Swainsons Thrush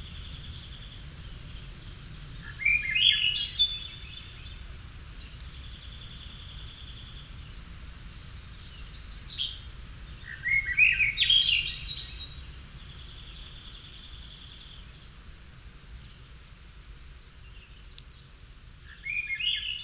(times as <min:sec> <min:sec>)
0:02.4 0:04.6, 0:08.2 0:15.0, 0:18.8 0:19.8